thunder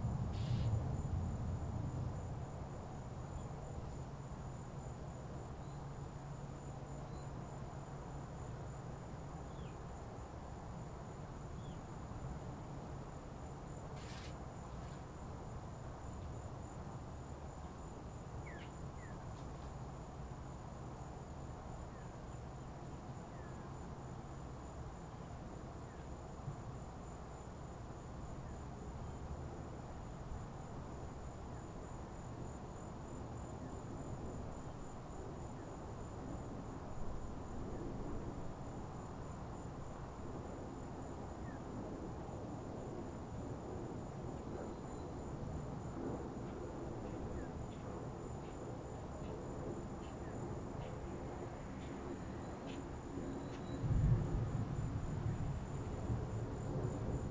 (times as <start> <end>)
0.0 2.8, 53.6 57.3